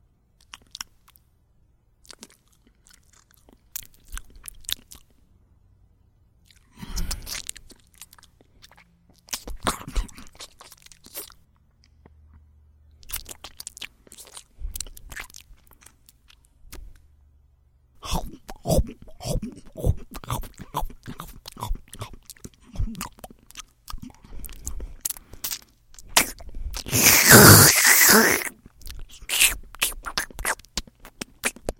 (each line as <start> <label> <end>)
6.4 wet, sloppy eating noises 12.4
13.0 wet, sloppy eating noises 17.0
18.0 biting 31.7
18.0 wet, sloppy eating noises 31.7
24.0 slurping 31.7